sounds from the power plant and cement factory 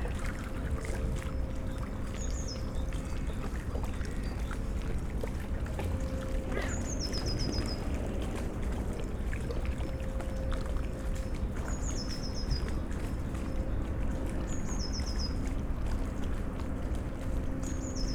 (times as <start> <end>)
5.8 8.5